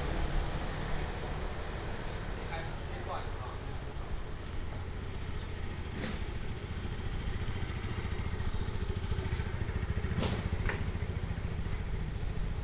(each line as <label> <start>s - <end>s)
Traffic sound 0.0s - 12.6s
walking in the Street 0.0s - 12.6s